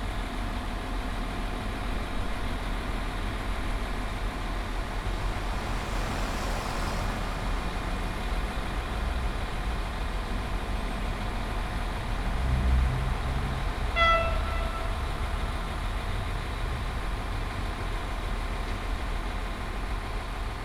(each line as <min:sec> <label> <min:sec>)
0:02.6 maintenance train waiting 0:12.2
0:13.6 maintenance train waiting 0:18.3